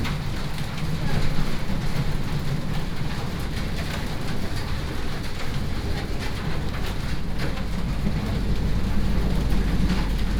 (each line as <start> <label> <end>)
0.0 thunderstorm 10.3